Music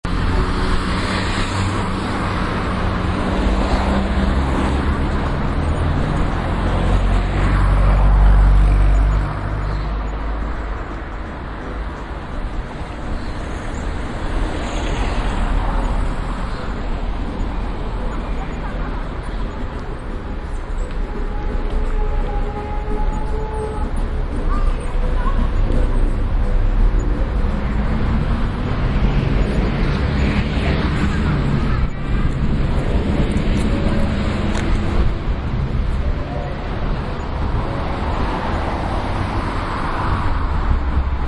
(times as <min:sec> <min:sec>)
0:19.7 0:29.6